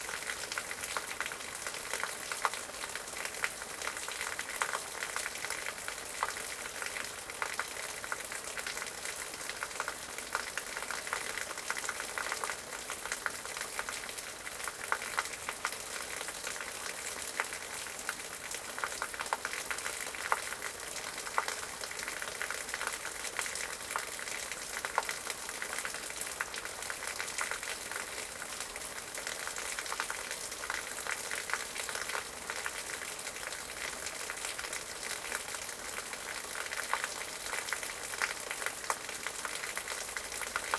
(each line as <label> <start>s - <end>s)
water falling from a metal drain onto stones and plants 29.2s - 40.7s